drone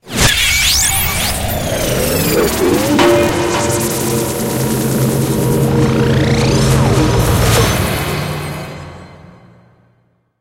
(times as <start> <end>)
2.1 9.2